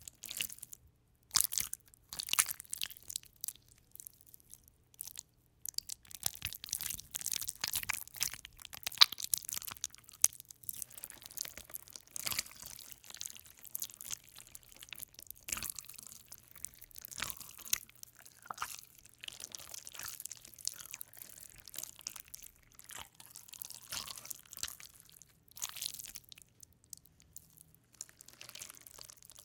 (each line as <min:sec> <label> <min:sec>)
0:00.0 slippery Jelly slowly kneading squeezing with Hands 0:29.4